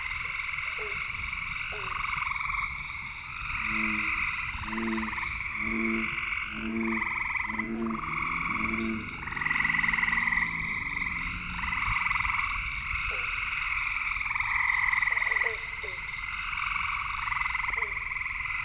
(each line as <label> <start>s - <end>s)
bear swamp frogs 0.0s - 18.6s